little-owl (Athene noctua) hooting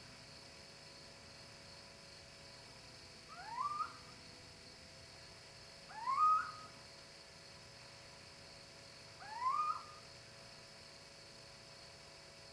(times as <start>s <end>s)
3.3s 4.1s, 5.9s 6.8s, 9.2s 10.1s